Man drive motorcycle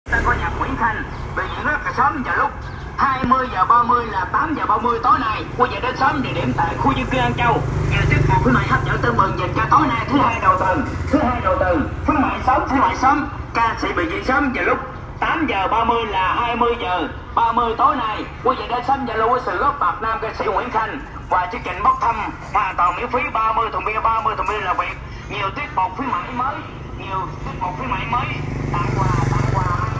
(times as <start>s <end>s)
0.1s 15.6s, 25.3s 29.9s